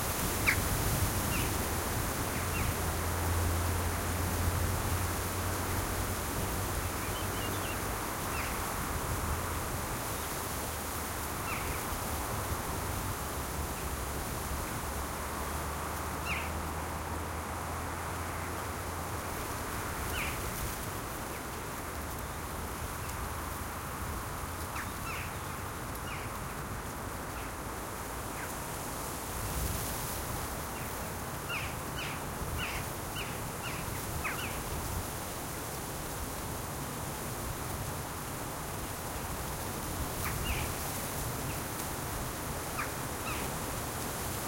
0.0s distant traffic 29.2s
0.0s wind 44.4s

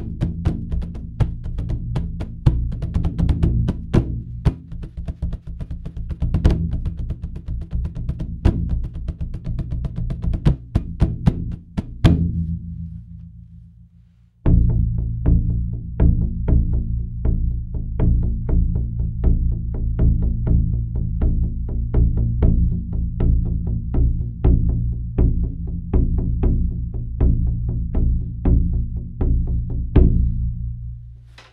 0.0s Mixed drum rhythm 17 inch drum dry 12.6s

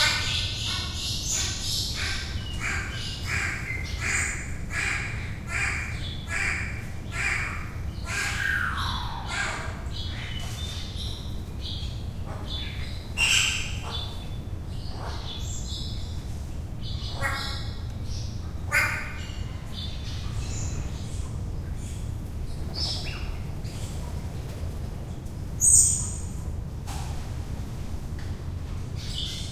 0.0s birds calling and flying around 29.5s

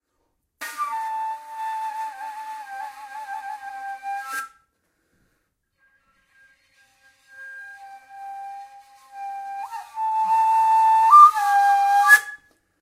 0.6s Kaval 5.0s
5.6s Kaval 12.6s

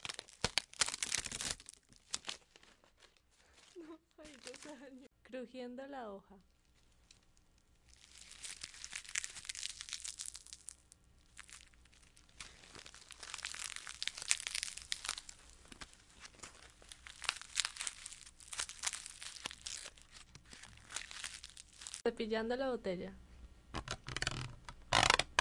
23.7s golpe de correa en el puff 25.4s

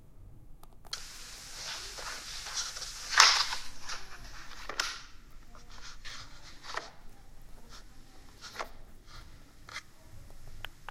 0.6s snaps 7.1s

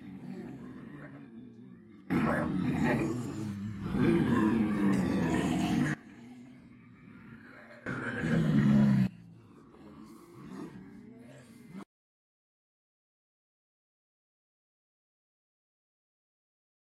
0.0s Multiple people pretending to be zombies 11.9s

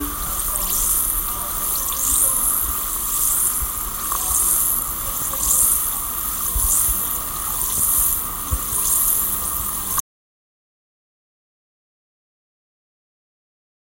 0.0s effervescent tablet in a glass with water 10.0s

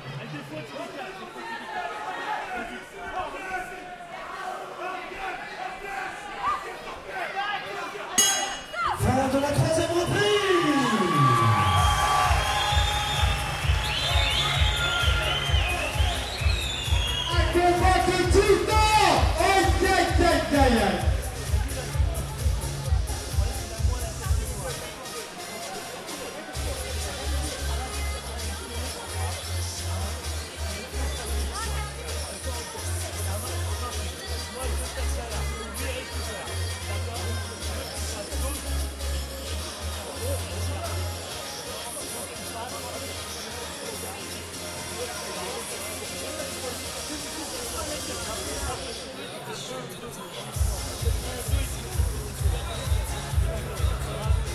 1.3s fervent supporters shouting 21.2s
7.2s speaker 54.5s
7.6s coach advice 11.8s
17.1s coach advice 27.8s

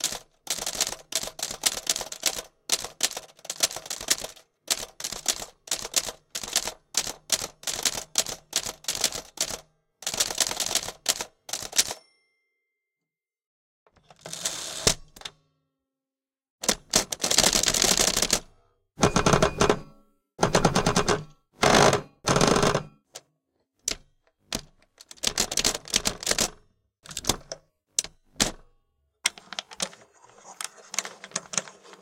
0.0s typewriter 12.0s
11.9s ding 13.1s
14.1s typewriter 15.3s
16.6s typewriter 23.2s
23.8s typewriter 28.7s
29.3s typewriter 32.0s

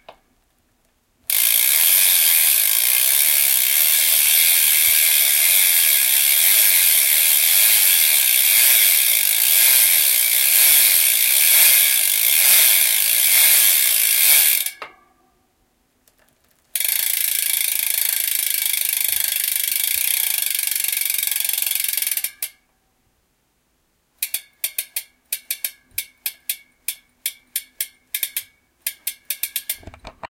1.3s Race bicycle back wheel gear rims 14.9s
24.2s Race bicycle back wheel gear rims 30.3s

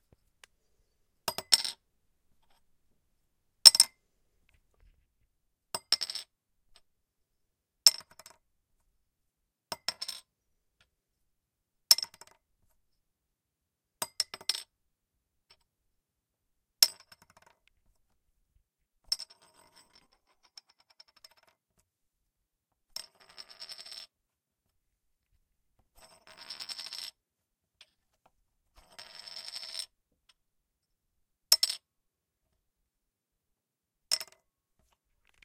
1.3s metal bottle cap being dropped on hardwood desk 1.8s
3.7s metal bottle cap being dropped on hardwood desk 3.9s
5.8s metal bottle cap being dropped on hardwood desk 6.3s
9.7s metal bottle cap being dropped on hardwood desk 10.2s
16.8s metal bottle cap being dropped on hardwood desk 17.6s
31.5s metal bottle cap being dropped on hardwood desk 31.8s
34.1s metal bottle cap being dropped on hardwood desk 34.4s

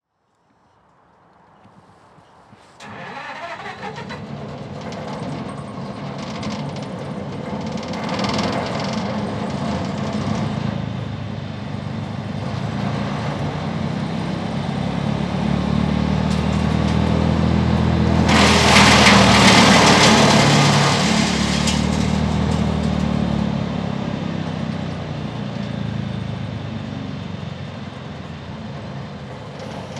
2.8s starting engine 11.1s
18.0s starting engine 23.2s
18.1s branch being fed through a wood muncher 23.1s

